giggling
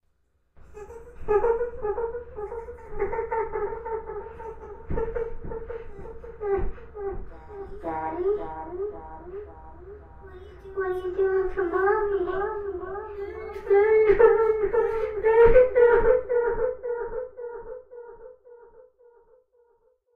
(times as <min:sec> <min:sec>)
0:00.6 0:08.6